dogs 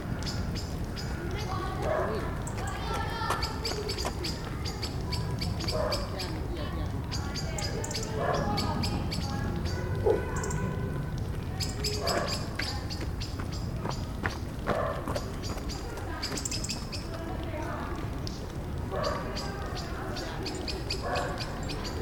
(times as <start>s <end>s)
1.8s 2.4s, 5.5s 6.5s, 8.1s 8.8s, 11.9s 12.7s, 14.6s 16.4s, 18.9s 22.0s